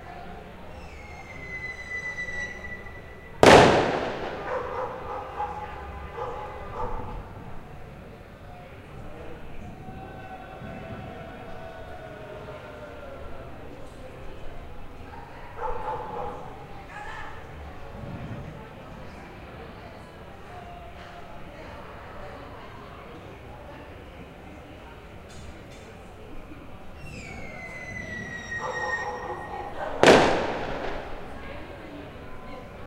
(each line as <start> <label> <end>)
3.4 crackers 5.0
30.0 crackers 31.4